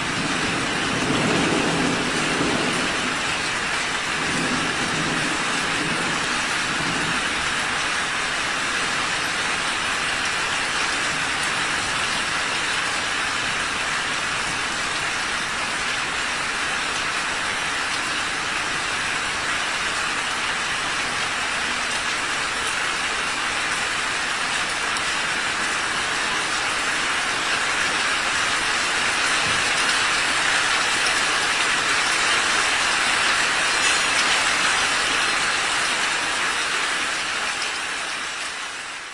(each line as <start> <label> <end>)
0.0 thunderstorm 9.4
0.0 rain 39.1
28.2 thunderstorm 35.0